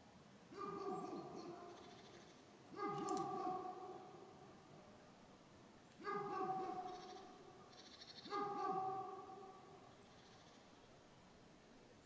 0.5s dogs 1.9s
2.7s dogs 4.1s
6.0s dogs 7.1s
8.3s dogs 9.6s

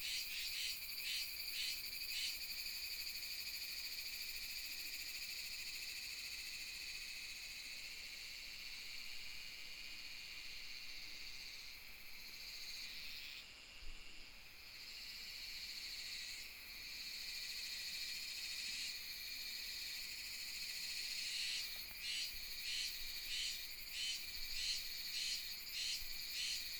0.0s Cicadas sound 26.7s

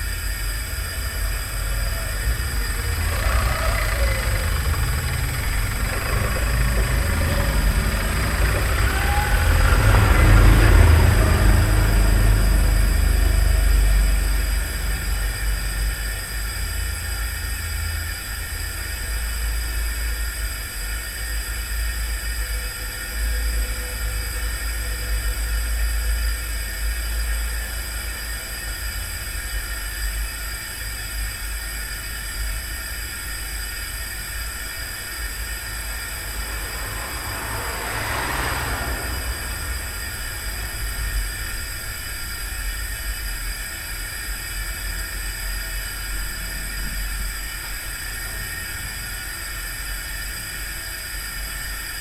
0.0s cars driving nearby 18.8s
0.0s Steady hum of gas 52.0s
33.8s cars driving nearby 44.4s

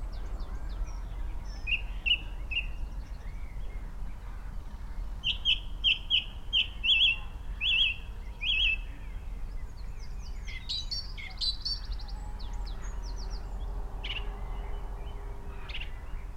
0.0s background noise 16.3s
0.0s blackbird 16.3s
0.0s pheasant 16.3s
0.0s robin 16.3s
0.0s skylark 16.3s
0.0s song thrush 16.3s
0.4s red-legged partridge 14.3s

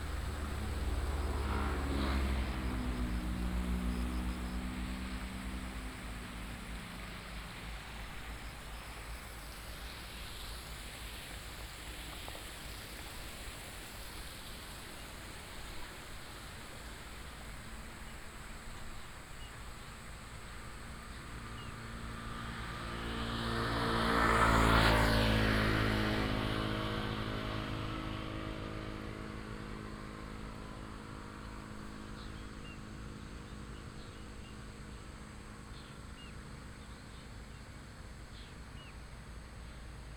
0.0s Traffic sound 12.4s
0.0s stream 40.1s

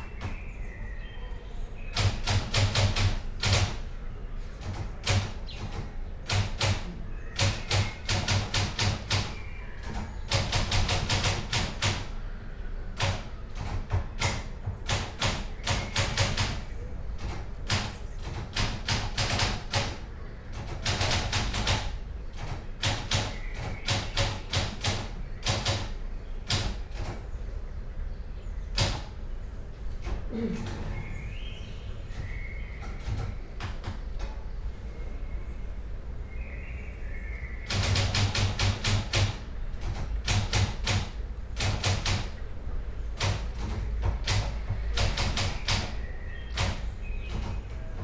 0.0s wind 48.0s
1.9s typewriter 3.9s
4.6s typewriter 12.2s
13.0s typewriter 27.3s
28.7s typewriter 29.3s
32.8s typewriter 34.4s
37.6s typewriter 42.5s
43.2s typewriter 48.0s

